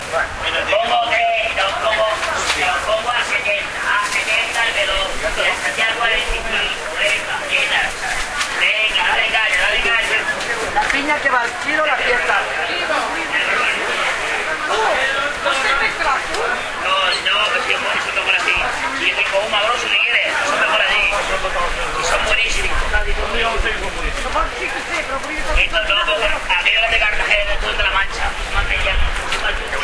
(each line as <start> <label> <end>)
0.0 conversation 29.8